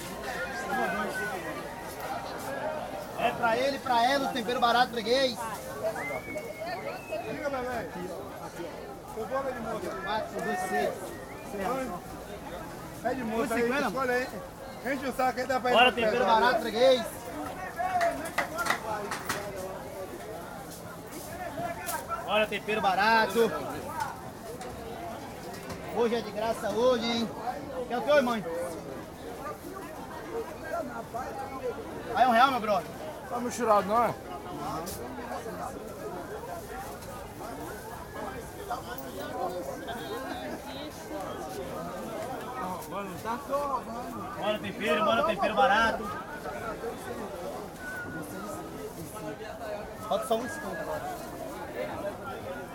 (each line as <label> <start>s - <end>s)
salesman sells green seasoning 0.0s - 29.0s
salesman sells green seasoning 30.5s - 52.7s